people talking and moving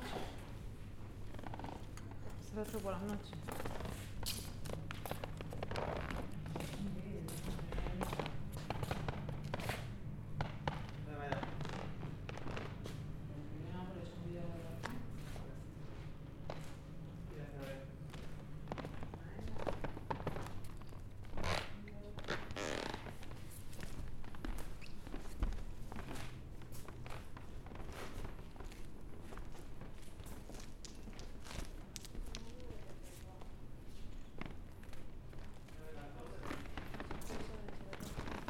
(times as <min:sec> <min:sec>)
0:01.4 0:09.8, 0:31.0 0:38.4